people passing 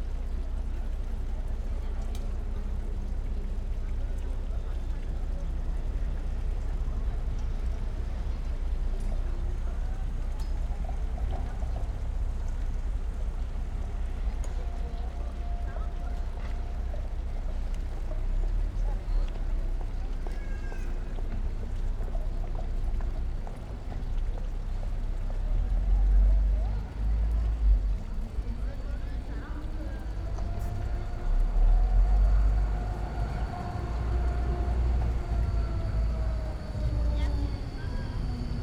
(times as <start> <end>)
27.9 38.6